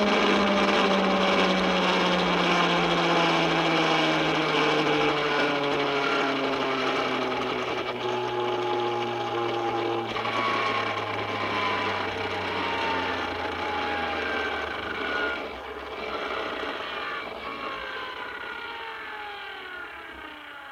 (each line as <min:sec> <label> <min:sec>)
0:00.0 toy truck single 0:20.7